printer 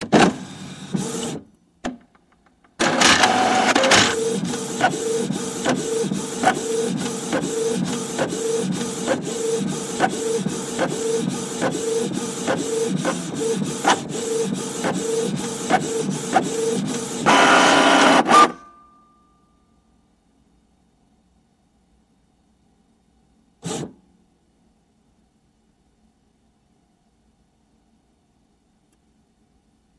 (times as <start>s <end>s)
0.0s 1.5s, 2.8s 18.8s, 23.6s 24.0s